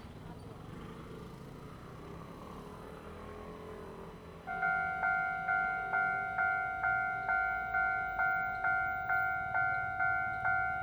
4.5s The train runs through 10.8s

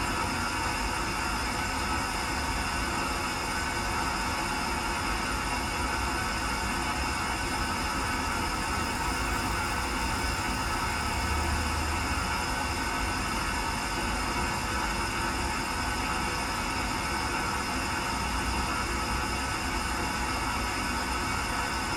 6.2s Hissing pipes amongst trees 13.2s

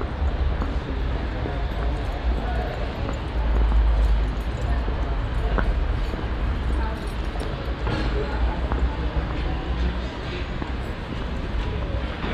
0.0s steps on the old cobble stone street 12.3s

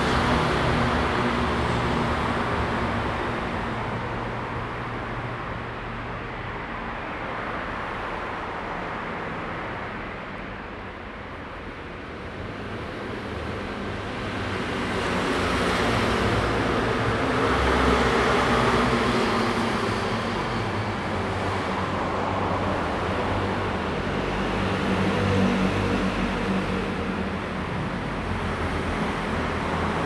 0.0s Traffic sound 30.0s

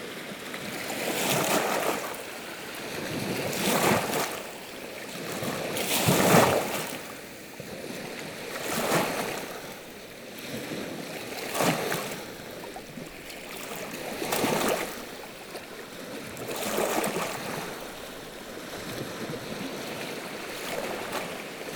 0.0s Sevan lake 21.7s

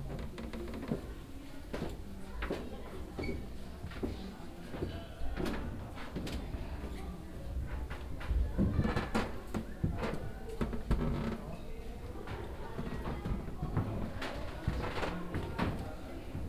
0.0s steps on the wooden construction 16.4s
1.1s visitors voices 16.4s

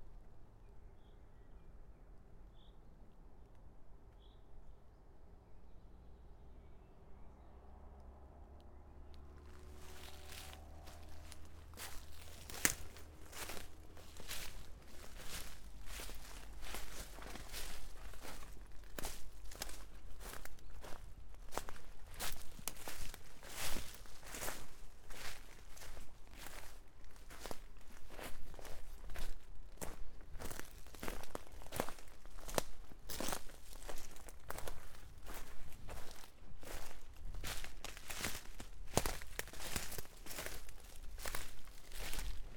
9.2s Walking 42.5s

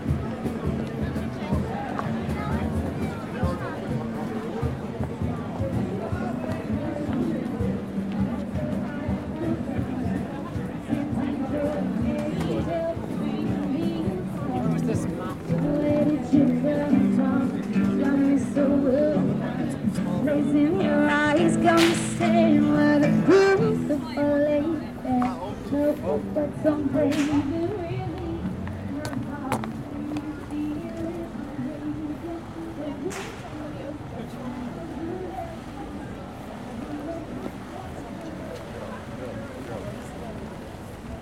0.0s buskers 41.2s

